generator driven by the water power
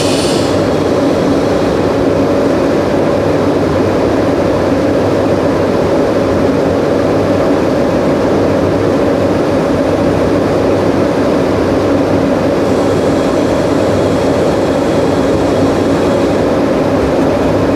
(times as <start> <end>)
0.0 4.4, 12.3 17.7